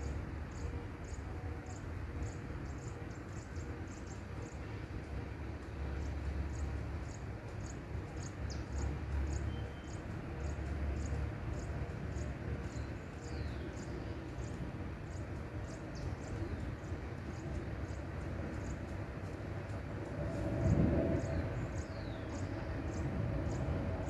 Birds can be heard singing 0:00.0 - 0:24.0
cars, trucks and motorcycles pass in the background 0:00.0 - 0:24.0
plane passing 0:18.3 - 0:24.0

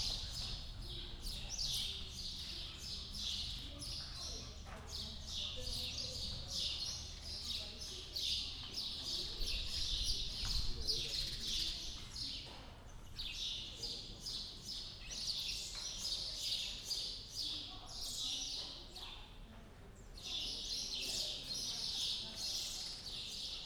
sparrows under tent 0:00.0 - 0:23.6

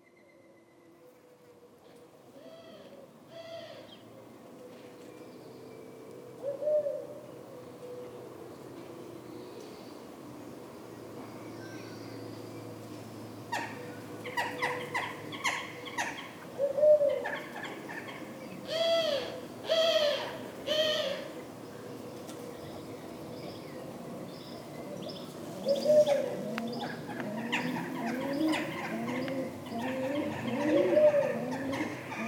Common Wood Pigeons 0:01.0 - 0:32.2
European Turtle Doves 0:12.6 - 0:32.2

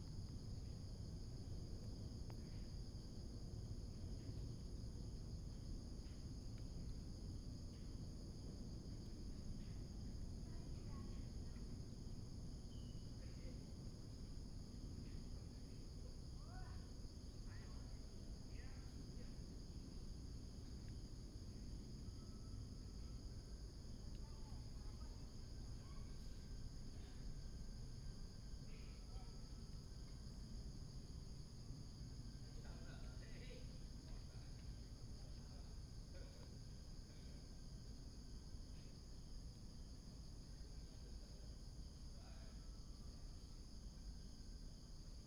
Insects sound 0:00.0 - 0:45.2

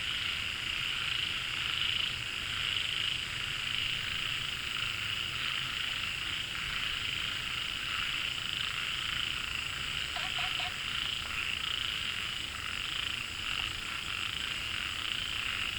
Frogs chirping 0:00.6 - 0:15.7

